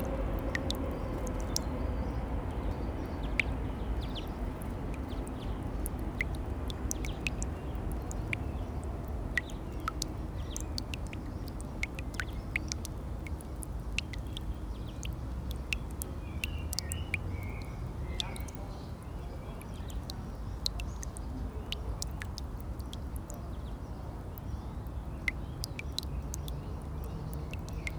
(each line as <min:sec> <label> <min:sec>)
0:00.0 quietly dripping tap 0:27.9